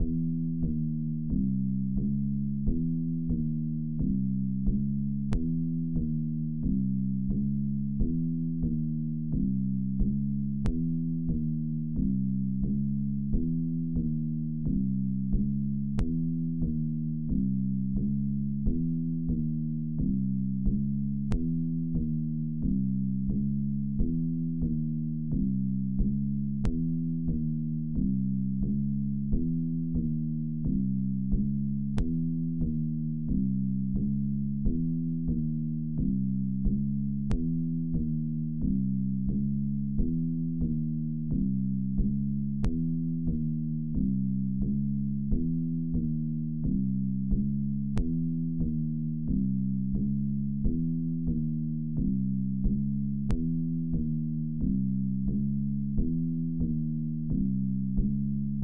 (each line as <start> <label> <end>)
0.0 synth bass 58.6